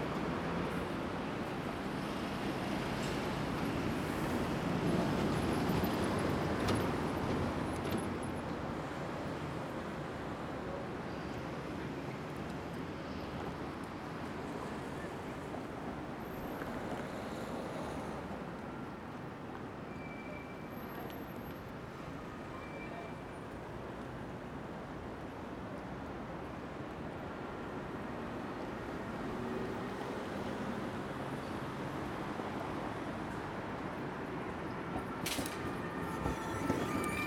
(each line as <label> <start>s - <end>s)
trams 0.0s - 26.0s
trucks 14.2s - 23.4s
trucks 29.2s - 37.2s
trams 32.0s - 37.2s